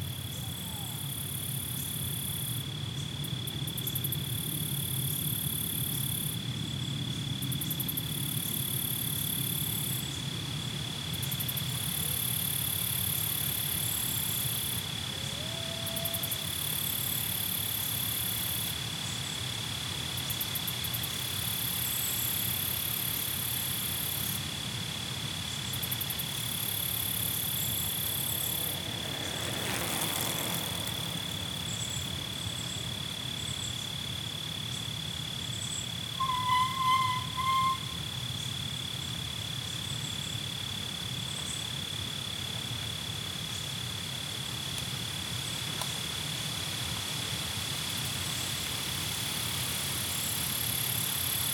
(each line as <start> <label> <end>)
0.0 crickets 51.5
0.0 cyclists ride past 51.5
0.0 susurration of leaves caused by the wind 51.5
36.2 squeal of brakes 38.0